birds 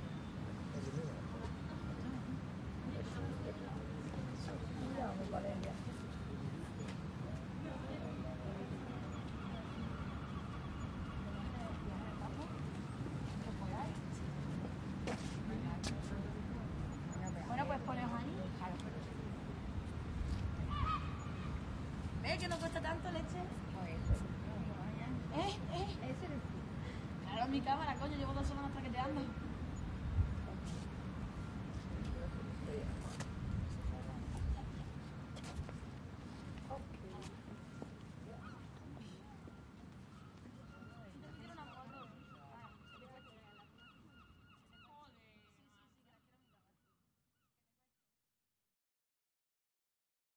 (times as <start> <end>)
8.0 14.0, 37.1 46.6